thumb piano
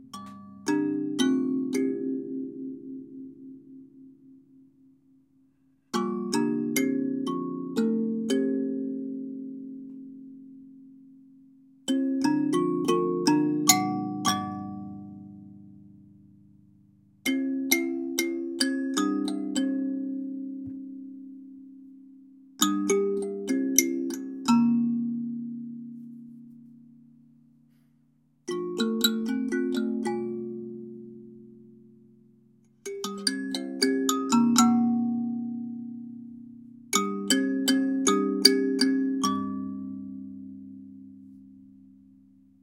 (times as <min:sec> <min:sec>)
0:11.9 0:16.0